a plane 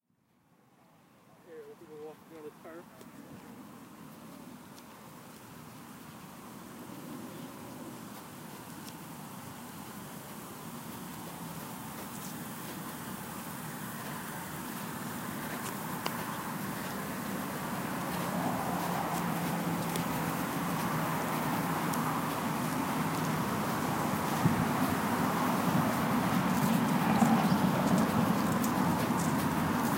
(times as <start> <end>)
3.1 25.0